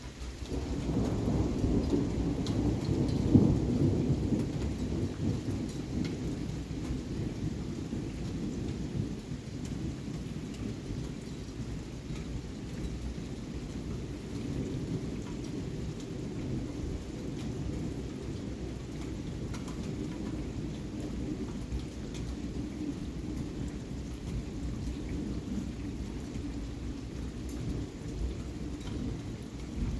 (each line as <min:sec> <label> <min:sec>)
0:00.0 Rain 0:29.9
0:00.5 loud thunder boomer and rumble 0:10.5
0:13.8 loud thunder boomer and rumble 0:29.9